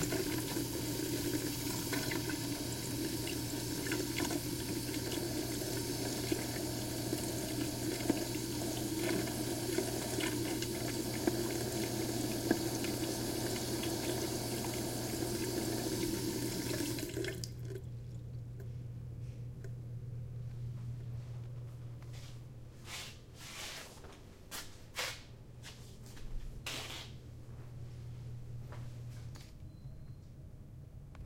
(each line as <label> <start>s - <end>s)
Running water from a bathroom faucet 0.0s - 17.9s